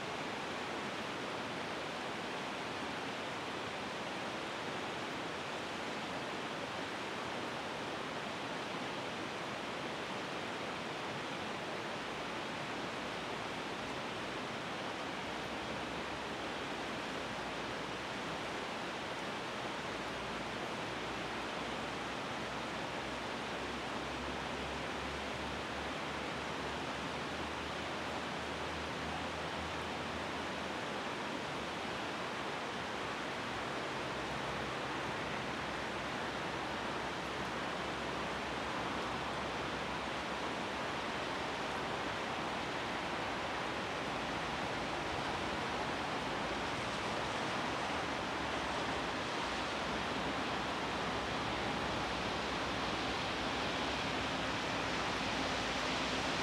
river 0.0 - 56.4

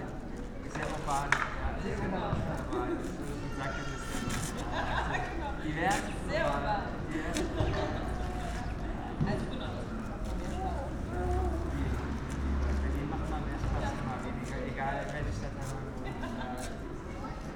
kids of all ages 0.0 - 17.5
street sounds 0.0 - 17.5

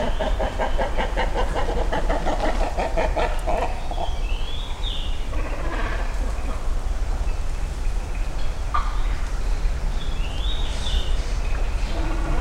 great egrets nesting nearby 0.0 - 4.2
Great Cormorants Nesting 0.0 - 12.4
other birds 0.0 - 12.4
great egrets nesting nearby 11.0 - 12.4

